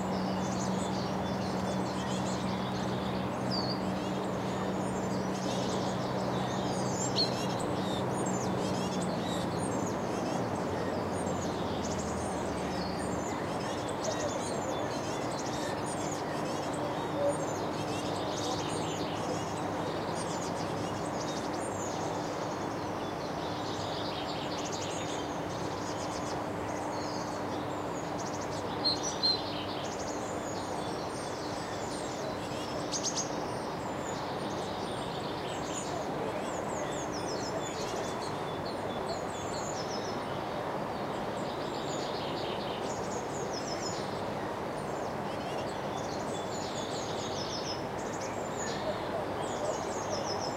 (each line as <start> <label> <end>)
0.0 birdsong 50.5